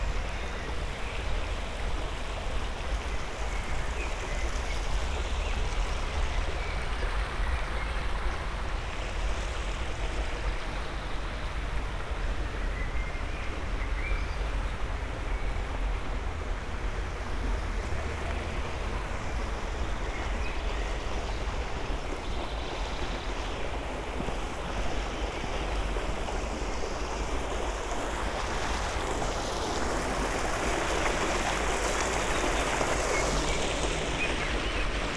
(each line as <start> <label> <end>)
13.5 walking along the canal 35.1